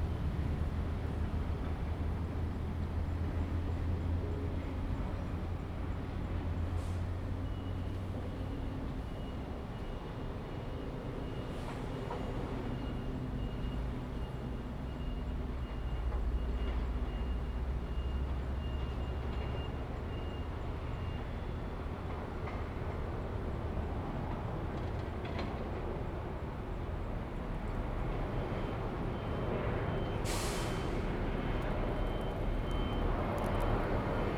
construction 7.4 - 34.3
traffic sound 11.0 - 34.3

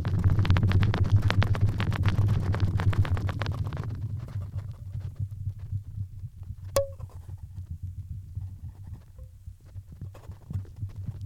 old reel tape in the wind 0.0 - 11.2

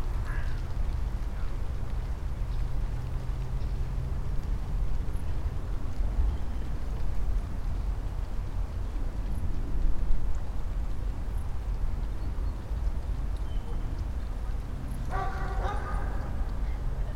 dog and doggy and their echos 15.0 - 16.5

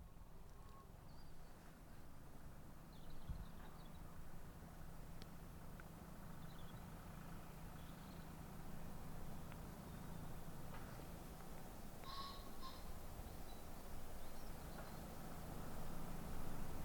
plane 0.0 - 16.8
tractor 0.0 - 16.8

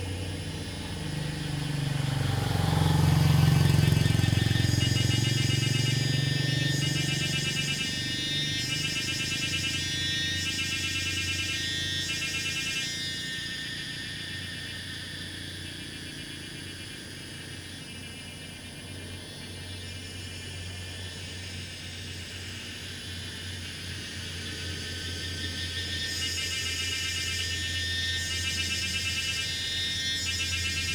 Traffic Sound 0.0 - 11.4
Cicadas sound 0.0 - 30.9

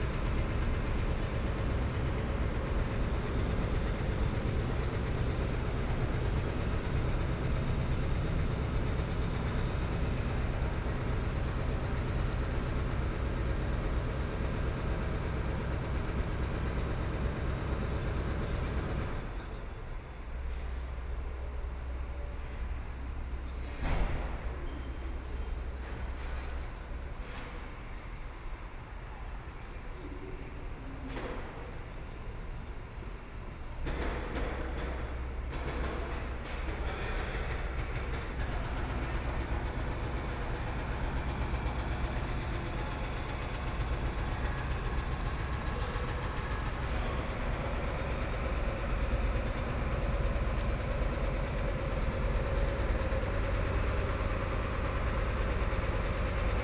Construction noise 0.0 - 19.5
Construction noise 33.0 - 56.6

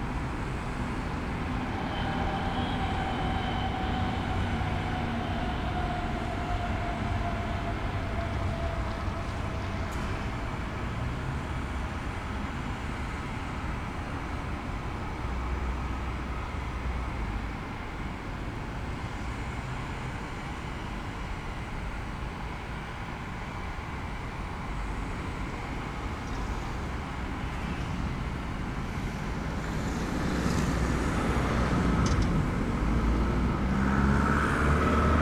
steam exhaust of the combined heat and power plant 0.0 - 35.2

